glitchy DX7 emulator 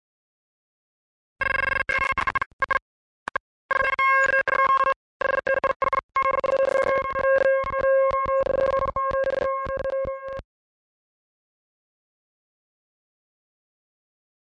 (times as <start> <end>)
1.4 10.4